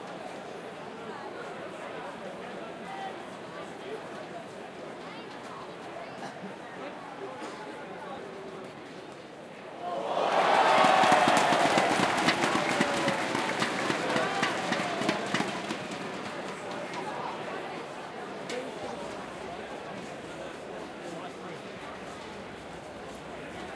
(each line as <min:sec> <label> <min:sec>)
0:09.8 cheering 0:17.8